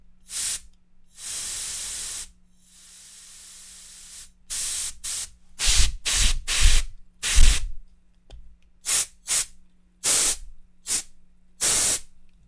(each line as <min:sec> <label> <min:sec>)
0:00.3 Compressed air spray 0:07.7
0:08.9 Compressed air spray 0:12.1